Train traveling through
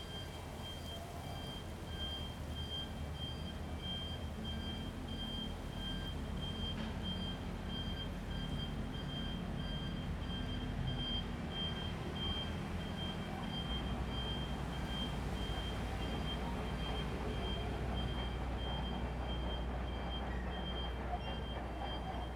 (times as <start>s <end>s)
16.4s 22.3s